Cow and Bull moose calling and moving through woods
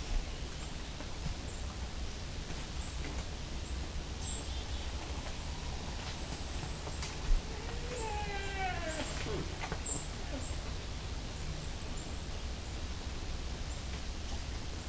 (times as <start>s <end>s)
4.1s 11.0s